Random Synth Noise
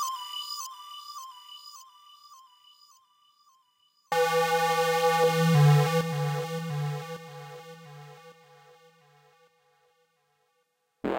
4.1 8.7

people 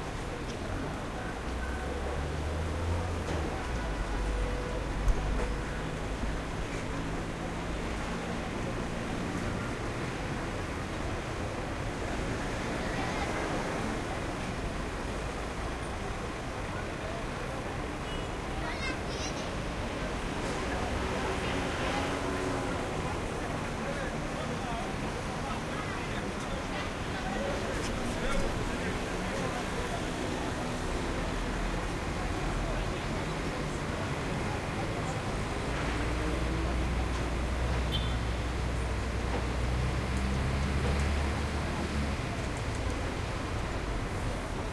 15.7 39.5

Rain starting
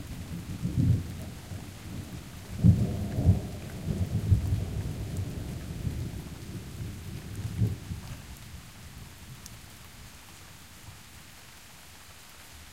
0.0 10.0

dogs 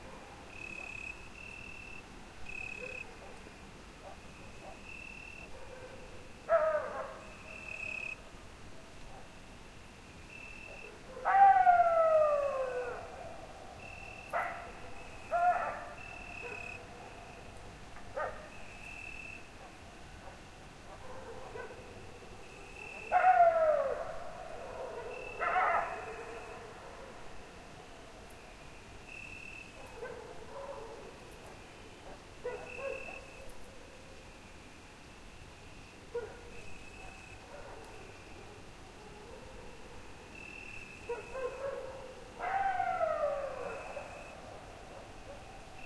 2.8 7.3, 14.3 17.3, 18.1 18.5, 19.6 22.0, 22.9 27.2, 29.8 33.5, 36.1 39.9, 41.1 45.6

